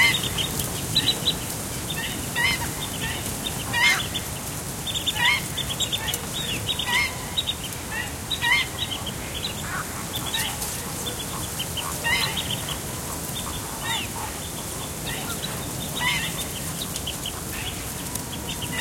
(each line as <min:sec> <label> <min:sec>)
0:00.0 bird callings (mostly Black-winged Stilt) 0:18.8